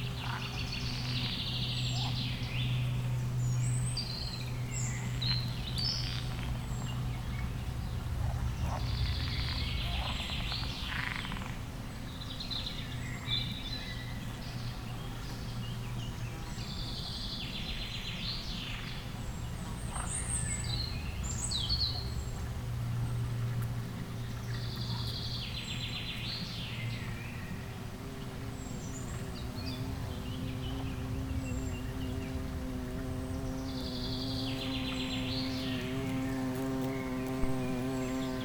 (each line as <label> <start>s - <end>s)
bumblebees 27.6s - 38.4s